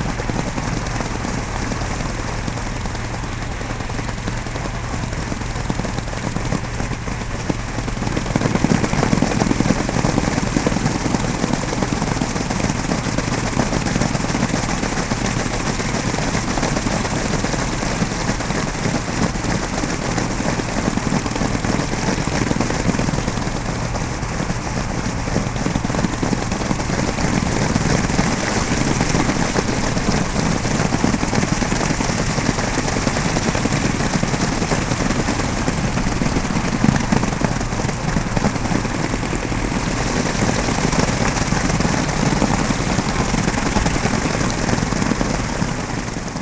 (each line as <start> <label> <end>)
0.0 airplane 46.4
16.2 moderate traffic noise 46.4